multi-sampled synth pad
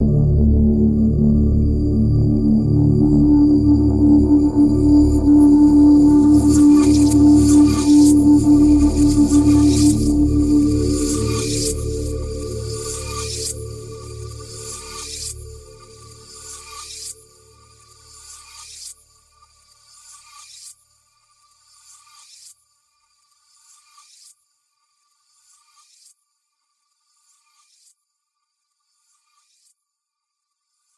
0.0s 17.9s

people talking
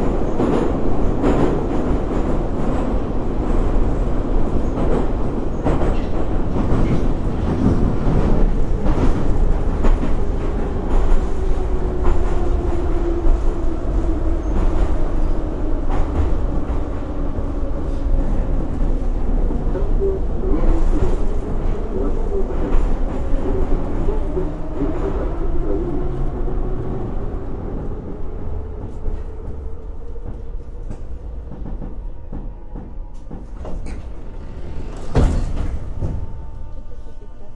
19.7s 26.3s, 36.7s 37.5s

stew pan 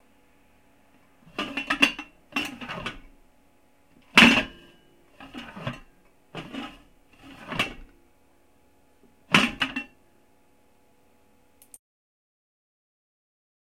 1.2s 3.1s, 4.0s 7.9s, 9.3s 10.0s

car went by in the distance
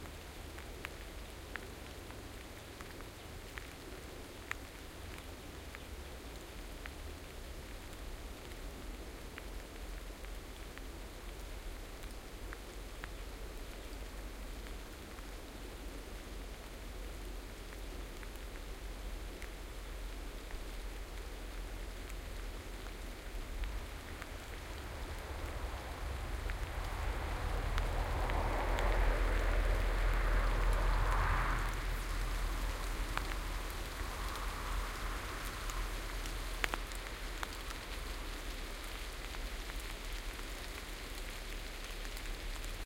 23.3s 42.8s

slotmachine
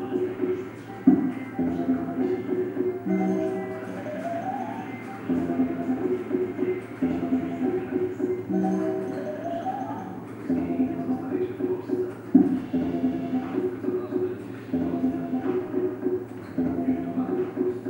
0.0s 11.3s

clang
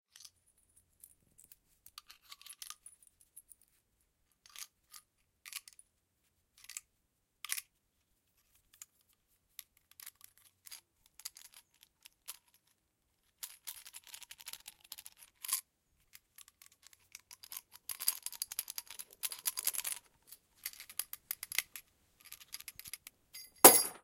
23.4s 24.0s

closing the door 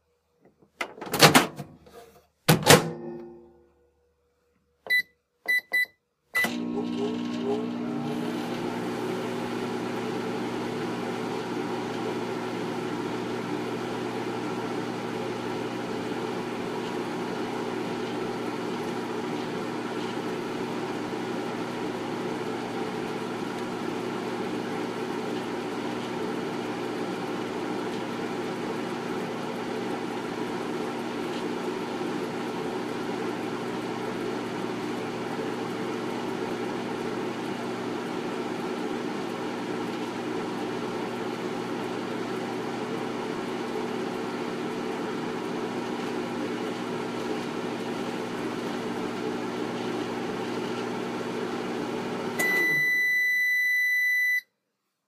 0.8s 1.7s, 2.5s 3.0s

